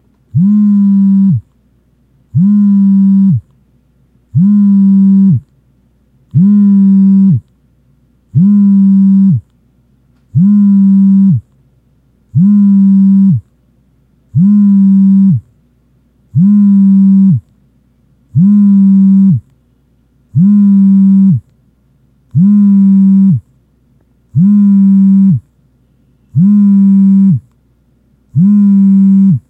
iPhone 3G vibrate on a wooden desk 0.3 - 1.5
iPhone 3G vibrate on a wooden desk 2.3 - 3.5
iPhone 3G vibrate on a wooden desk 4.3 - 5.4
iPhone 3G vibrate on a wooden desk 6.3 - 7.5
iPhone 3G vibrate on a wooden desk 8.3 - 9.5
iPhone 3G vibrate on a wooden desk 10.3 - 11.5
iPhone 3G vibrate on a wooden desk 12.3 - 13.5
iPhone 3G vibrate on a wooden desk 14.3 - 15.5
iPhone 3G vibrate on a wooden desk 16.3 - 17.5
iPhone 3G vibrate on a wooden desk 18.3 - 19.5
iPhone 3G vibrate on a wooden desk 20.3 - 21.5
iPhone 3G vibrate on a wooden desk 22.3 - 23.5
iPhone 3G vibrate on a wooden desk 24.3 - 27.5
iPhone 3G vibrate on a wooden desk 28.3 - 29.4

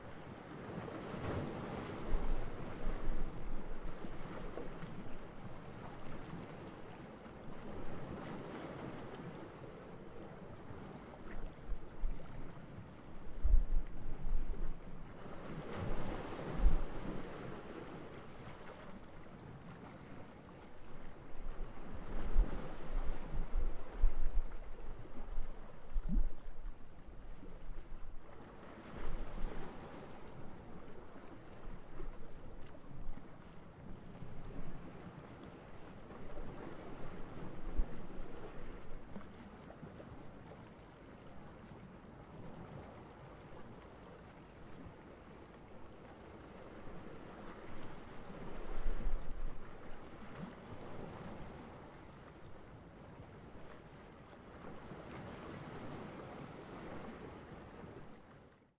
sea waves 0.0 - 58.7

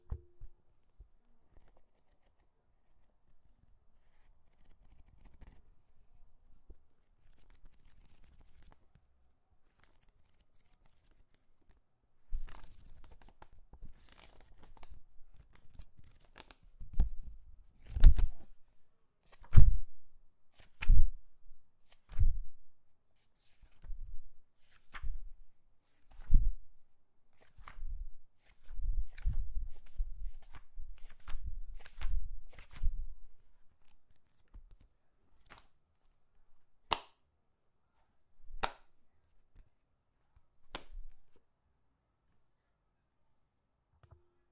pages flipped through 1.5 - 5.6
pages flipped through 7.2 - 9.0
pages flipped through 9.6 - 18.6
pages flipped through 19.2 - 19.9
pages flipped through 20.6 - 21.2
pages flipped through 21.8 - 22.5
pages flipped through 23.4 - 26.6
pages flipped through 27.3 - 35.8
pages flipped through 38.5 - 38.9
pages flipped through 40.7 - 41.4

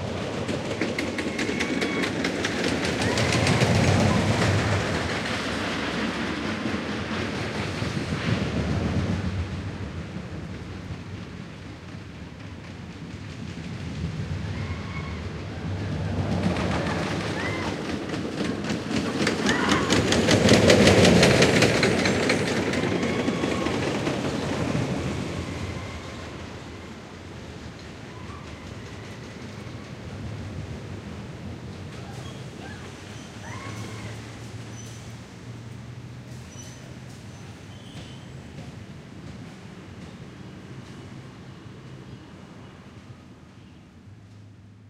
old style wood-frame roller coaster 0.0 - 44.8

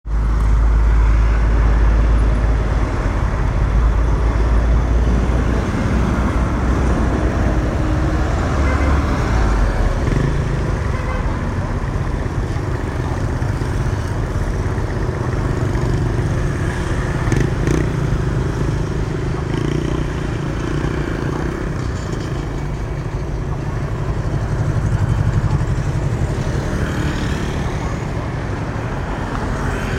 motorcycle 0.1 - 29.9
truck 0.1 - 29.9

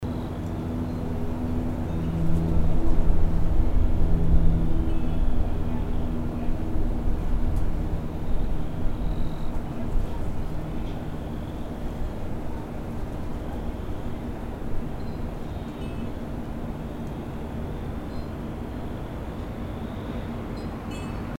A LOT OF WIND 0.0 - 21.3
CRICKETS 4.2 - 21.3
WIND CHIMES 4.8 - 5.6
WIND CHIMES 14.8 - 18.6
WIND CHIMES 20.5 - 21.3

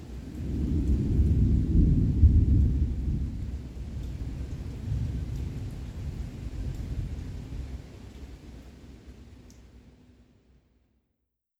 Thunder rolls in distance 0.2 - 7.5

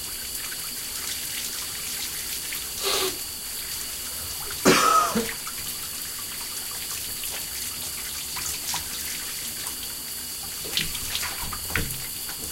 full shower 0.0 - 12.5

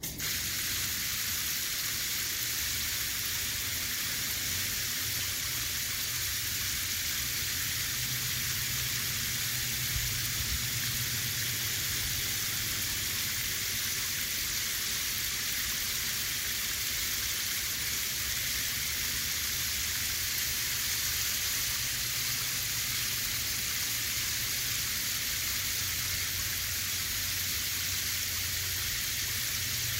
water hose spraying on water 0.0 - 29.9

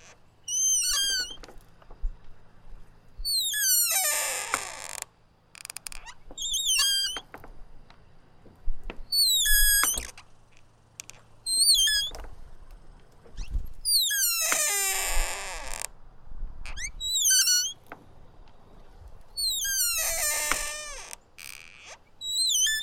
front door squeaky open close loud creak 0.0 - 2.1
front door squeaky open close loud creak 3.2 - 7.5
front door squeaky open close loud creak 9.1 - 12.3
front door squeaky open close loud creak 13.2 - 16.0
front door squeaky open close loud creak 16.6 - 17.9
front door squeaky open close loud creak 19.4 - 22.8

